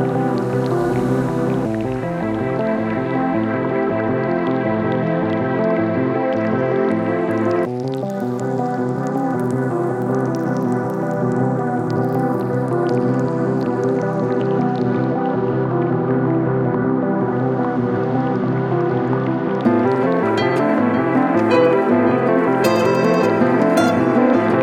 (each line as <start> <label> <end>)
19.6 Synth Beat 24.6